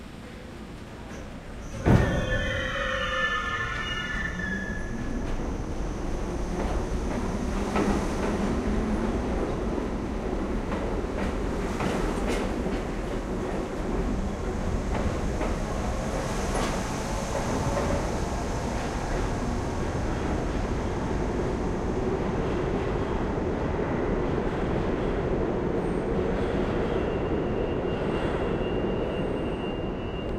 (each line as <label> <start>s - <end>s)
train departure 0.0s - 30.3s
brake squeal 1.6s - 5.2s